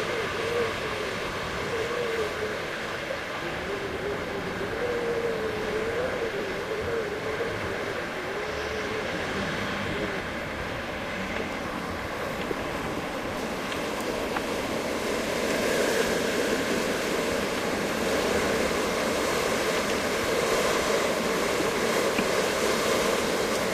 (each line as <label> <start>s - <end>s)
Winter Wind Mix 0.0s - 23.7s